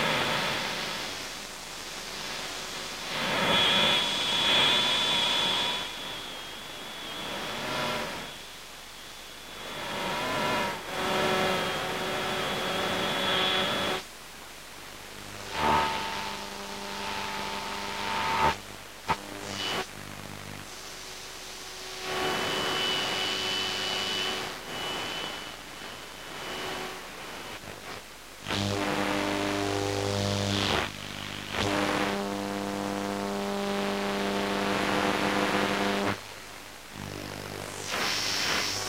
radio noise 37.0 - 38.8

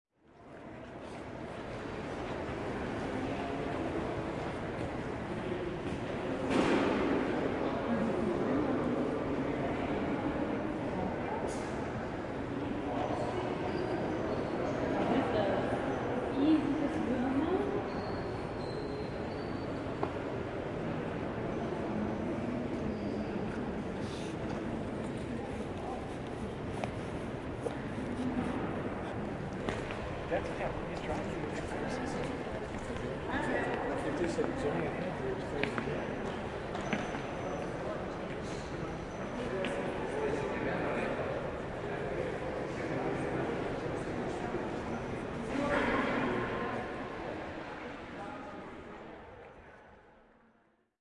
background noise from ventilation and heating systems 0.2 - 50.8

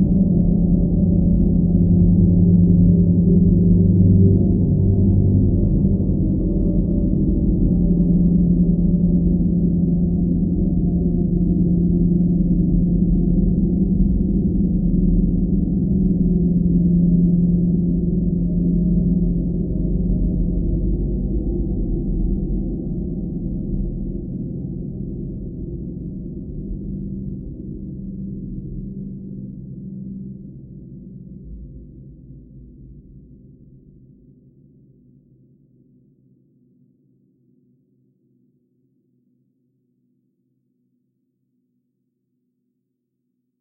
slowly evolving dreamy ambient drone pad 0.0 - 32.9

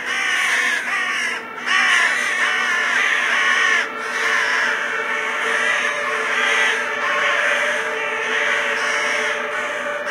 large group of ravens making some big noise 0.0 - 10.1
occasional sirens in the background 0.0 - 10.1

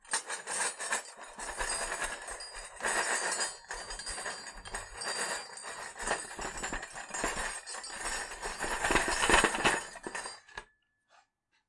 silverware rattling on a table 0.1 - 10.6

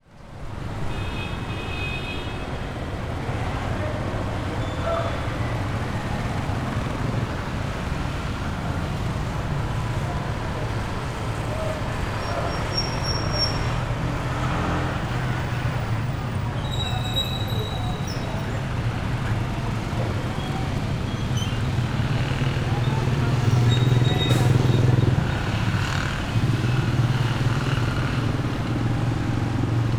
voices of some people in the street 0.0 - 29.9
cars 0.0 - 29.9
trucks 0.0 - 29.9
jeepneys 2.6 - 29.9
motorcycles 2.8 - 29.9

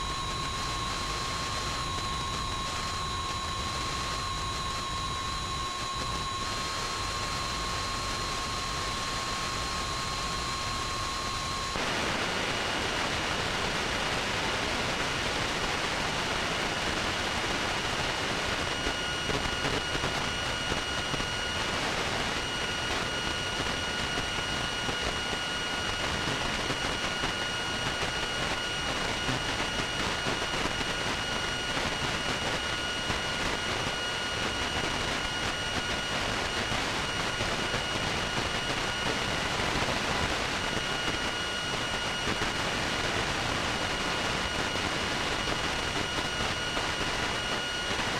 base computer noise 0.0 - 13.0
hum 0.0 - 48.1
whine 0.0 - 48.1

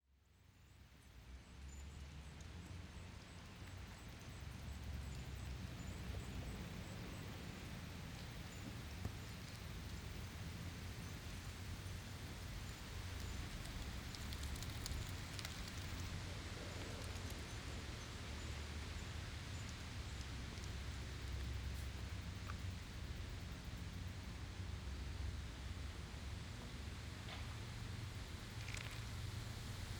Wind 0.1 - 29.9
Leaves Skittering on asphalt street 7.4 - 21.8

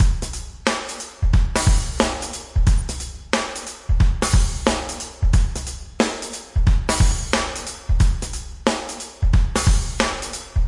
drum 0.0 - 10.6

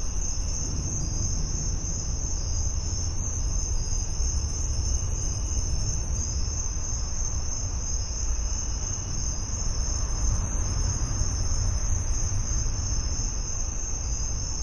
Crickets 0.0 - 14.6

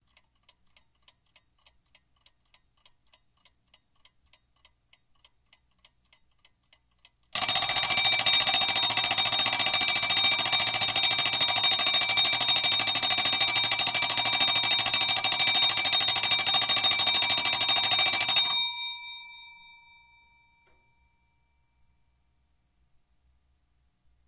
clock ticking 0.0 - 18.7
alarm bell 7.4 - 22.0

